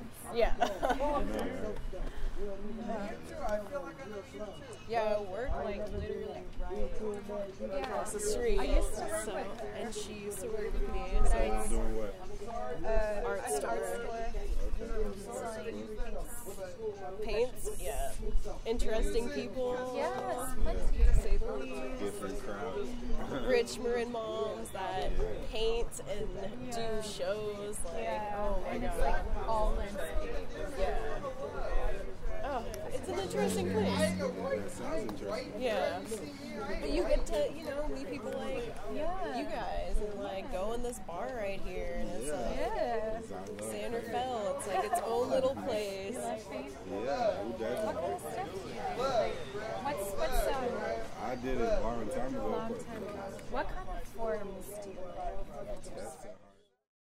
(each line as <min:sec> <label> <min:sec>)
0:00.0 individuals talk 0:56.4